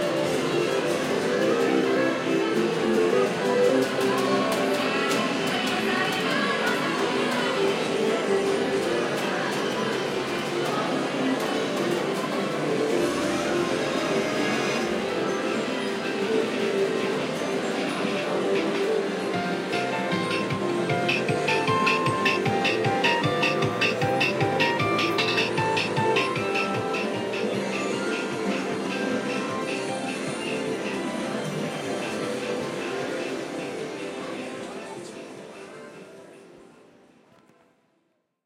TVs 0:00.0 - 0:36.2
crowd 0:00.0 - 0:37.8
pachinko 0:06.5 - 0:34.2

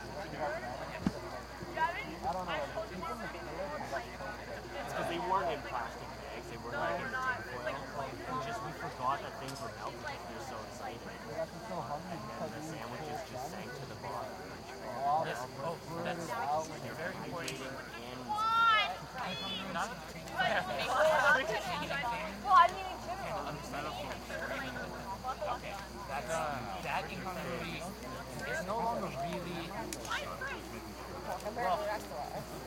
crowd ext young campers 0:00.0 - 0:32.6
nearby conversations 0:00.0 - 0:32.6
night crickets 0:00.0 - 0:32.6

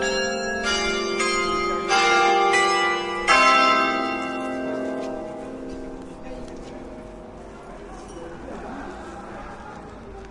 carillon 0:00.0 - 0:08.4

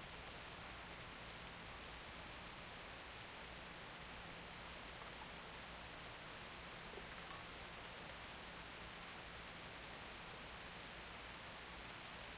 rain 0:00.0 - 0:12.3

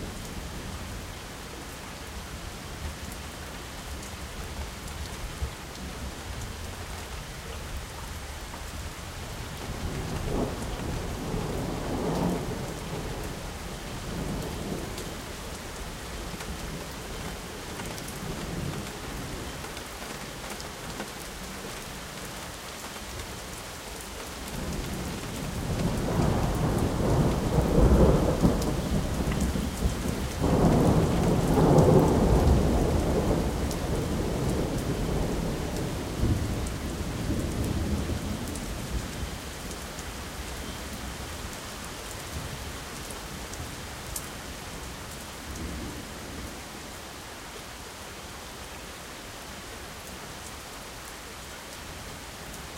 rain 0:00.0 - 0:52.7
thunder 0:25.6 - 0:38.6

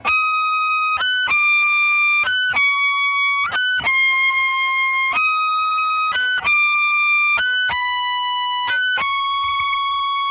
guitar high melodie 0:00.0 - 0:10.3

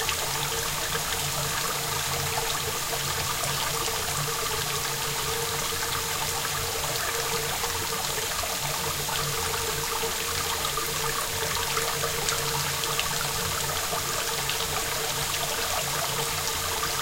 rain 0:00.0 - 0:17.0

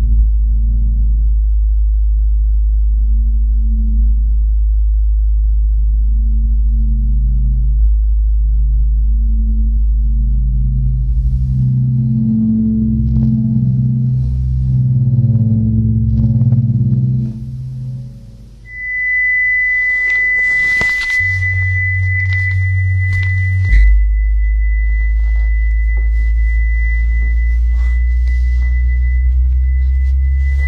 generative music 0:05.2 - 0:30.6

